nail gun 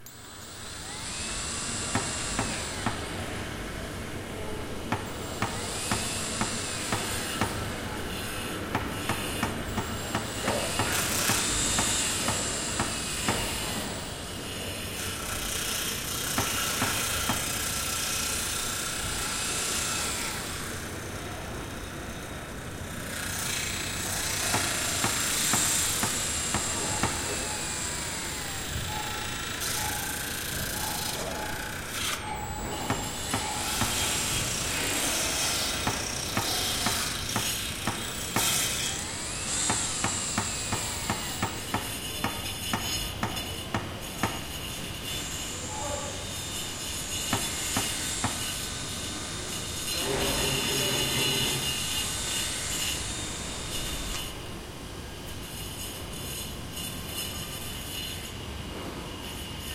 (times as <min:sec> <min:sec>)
0:08.7 0:14.0, 0:15.3 0:18.6, 0:23.4 0:44.6, 0:47.3 0:48.5